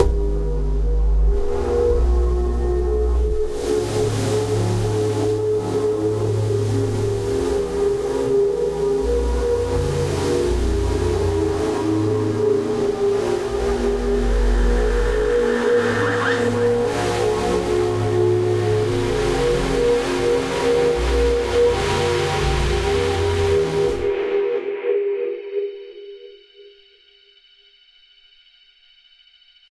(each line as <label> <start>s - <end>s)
bass 0.0s - 24.2s
Static Pad 10.6s - 24.7s